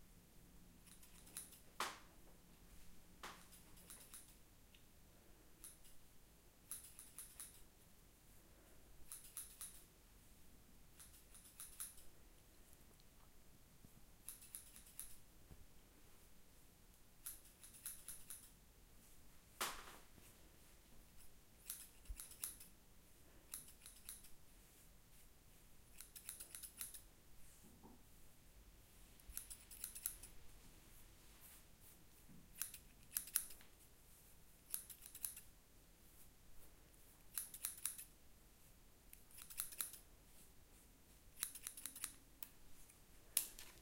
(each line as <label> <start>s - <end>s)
Snipping with hairdresser scissors 0.8s - 1.6s
Snipping with hairdresser scissors 3.3s - 4.4s
Snipping with hairdresser scissors 5.6s - 6.0s
Snipping with hairdresser scissors 6.6s - 7.6s
Snipping with hairdresser scissors 9.0s - 9.9s
Snipping with hairdresser scissors 11.0s - 12.1s
Snipping with hairdresser scissors 14.2s - 15.2s
Snipping with hairdresser scissors 17.2s - 18.5s
Snipping with hairdresser scissors 21.2s - 22.7s
Snipping with hairdresser scissors 23.5s - 24.4s
Snipping with hairdresser scissors 25.9s - 27.1s
Snipping with hairdresser scissors 29.2s - 30.3s
Snipping with hairdresser scissors 32.5s - 33.6s
Snipping with hairdresser scissors 34.6s - 35.5s
Snipping with hairdresser scissors 37.2s - 38.1s
Snipping with hairdresser scissors 39.1s - 40.1s
Snipping with hairdresser scissors 41.3s - 42.6s